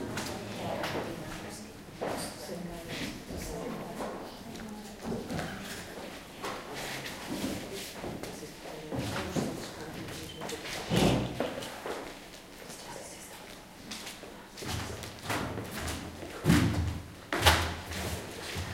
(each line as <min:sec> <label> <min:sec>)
0:00.0 talk 0:06.2
0:07.6 talk 0:10.8